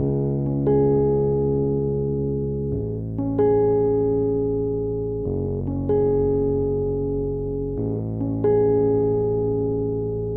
rhodes 0.0 - 10.3

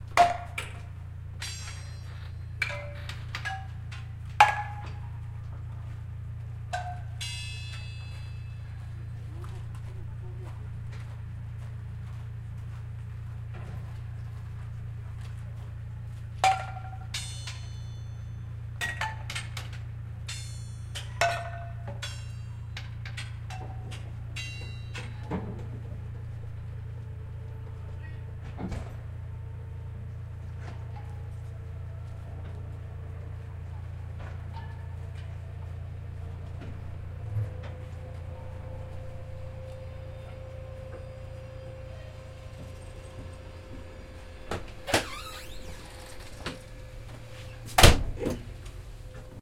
electric train 0.0 - 9.9
electric train 10.7 - 49.4
slam doors 42.6 - 48.8
Conductor creak 43.4 - 48.7

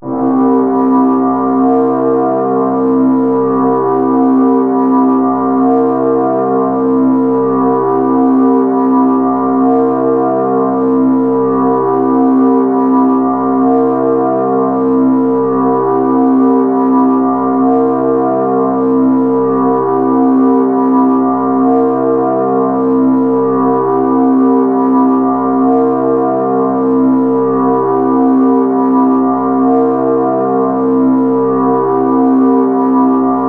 drone 0.0 - 33.4

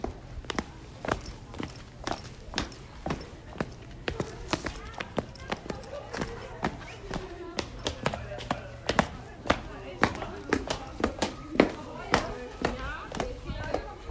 footstep 0.0 - 14.1

